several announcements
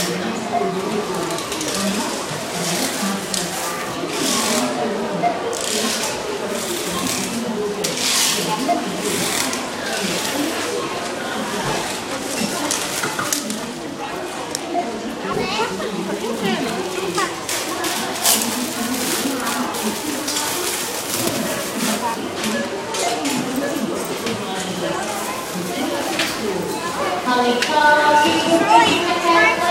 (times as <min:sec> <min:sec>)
0:20.8 0:29.7